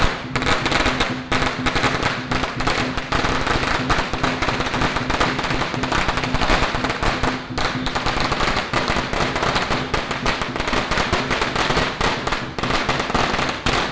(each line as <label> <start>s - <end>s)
Firecrackers sound 0.0s - 13.9s